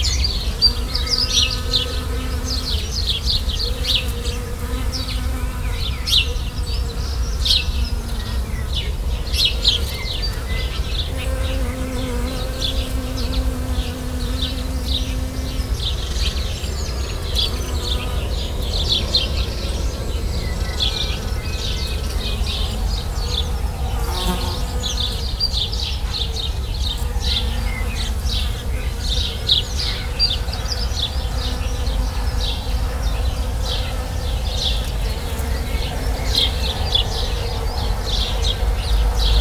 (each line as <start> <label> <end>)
0.0 Bee's buzzing in the bush 39.4
0.0 birds 39.4